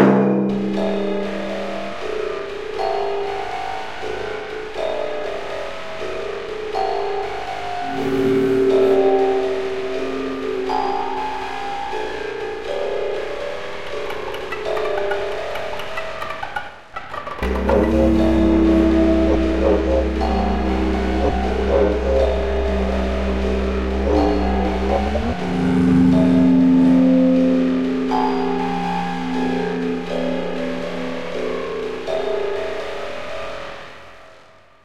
timpani 0:00.0 - 0:01.7
Didgeridoo samples 0:07.1 - 0:33.9
jaw harp 0:13.8 - 0:32.9
timpani 0:14.4 - 0:31.6

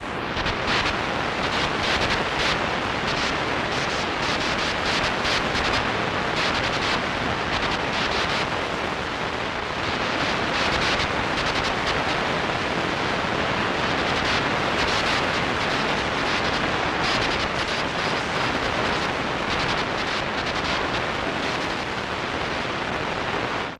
Radio Static 0:00.0 - 0:23.7

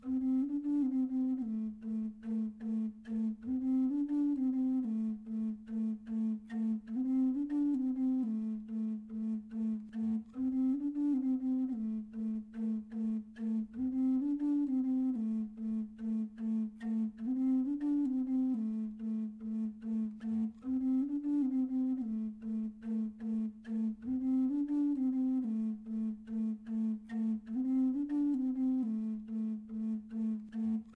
Native American Style Flute Bamboo Low A3 Riff 0:00.0 - 0:30.9

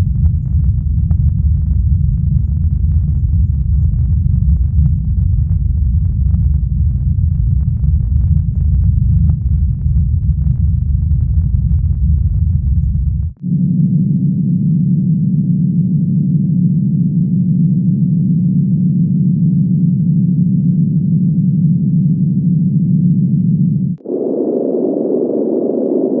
oscillators 0:00.0 - 0:26.2
ship-background-ambiance sort of sound 0:00.0 - 0:26.2
phaser-like sound 0:24.0 - 0:26.2

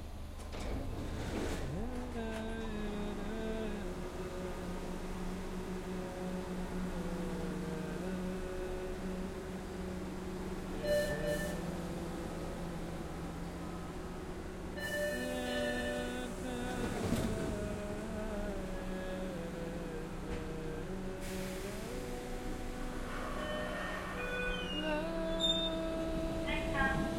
on coming train/ subway car 0:00.0 - 0:27.1
man singing 0:01.6 - 0:10.1
man singing 0:15.0 - 0:23.1
man singing 0:24.7 - 0:27.1

